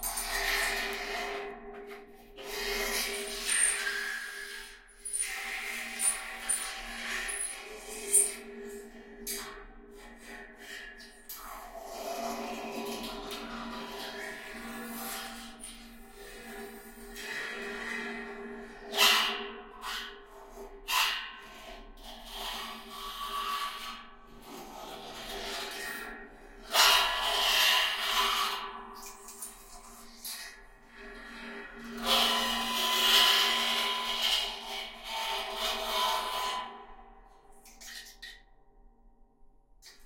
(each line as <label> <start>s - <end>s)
Metallic scraping in metal barrel 2.8s - 4.3s